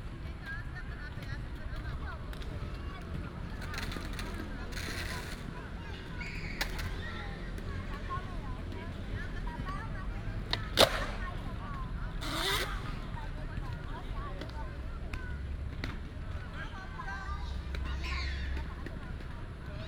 skateboard 0:01.1 - 0:09.8
skateboard 0:10.4 - 0:13.8

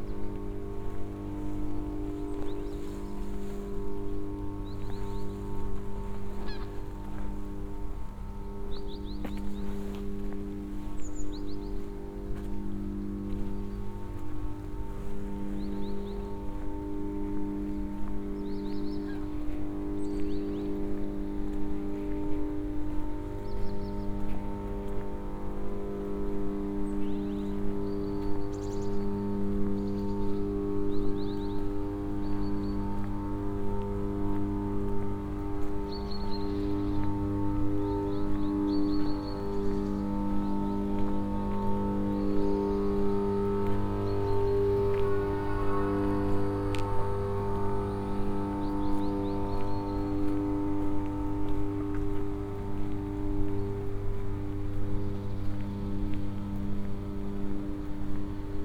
electric buzz of machinery and power circuits 0:14.8 - 0:58.6

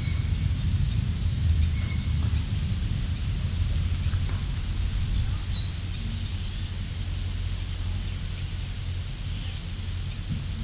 grasshoppers 0:00.0 - 0:10.6

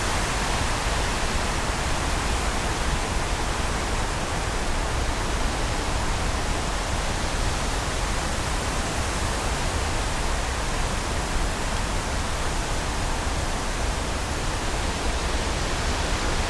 very windy 0:00.0 - 0:16.4

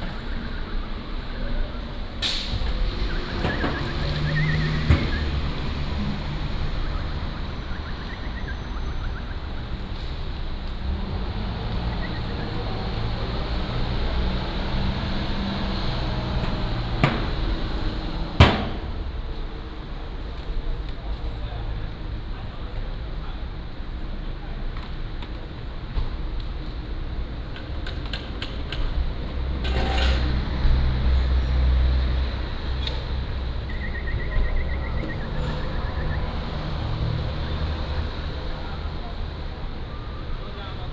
Traffic Sound 0:00.0 - 0:40.9
Whistling 0:02.3 - 0:05.5
Whistling 0:06.8 - 0:09.6
Whistling 0:11.9 - 0:12.4
Whistling 0:33.6 - 0:36.6

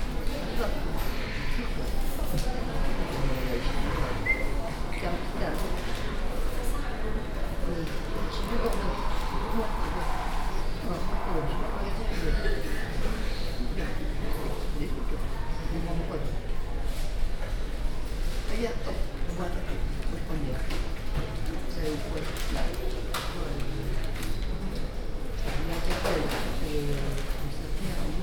homeless conversation 0:00.3 - 0:16.5

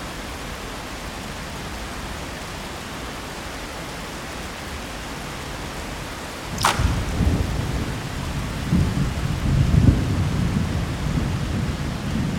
Thunderstorm 0:06.5 - 0:12.3

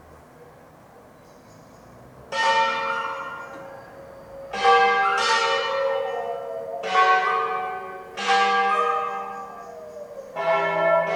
bells 0:02.3 - 0:11.1

